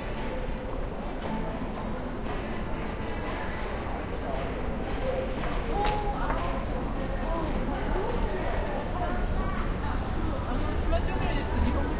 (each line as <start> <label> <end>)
0.0 people in the background 11.9